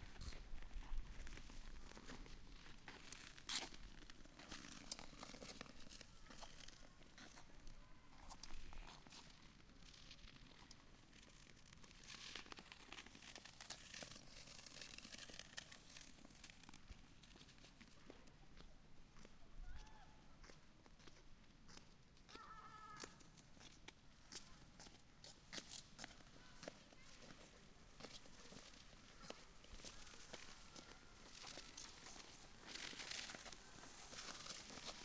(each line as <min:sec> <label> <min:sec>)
0:12.0 skaters passing by 0:17.8
0:24.6 skaters passing by 0:35.0